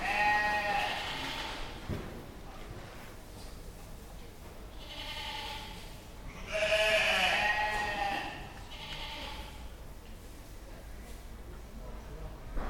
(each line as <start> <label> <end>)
0.0 Sheep baaing 1.4
0.0 chatter of stall holders 12.6
6.4 Sheep baaing 9.5